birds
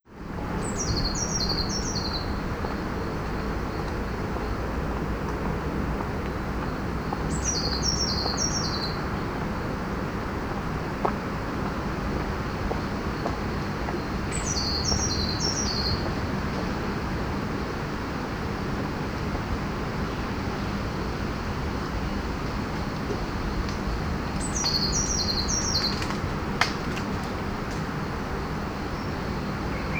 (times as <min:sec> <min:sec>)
0:23.8 0:27.4